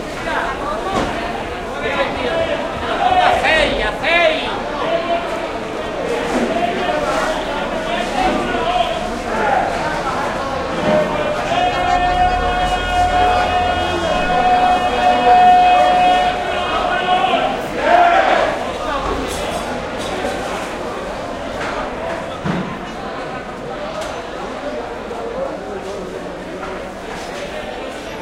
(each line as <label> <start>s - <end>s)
ambient noise 0.0s - 28.2s
shouts 10.8s - 18.7s